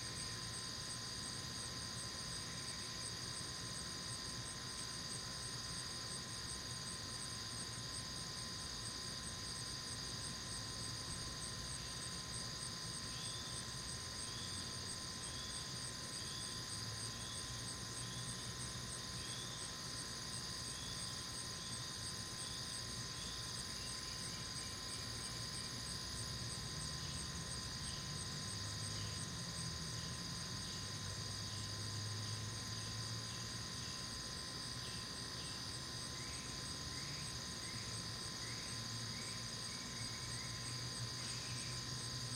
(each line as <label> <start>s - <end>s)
Insects 0.0s - 42.3s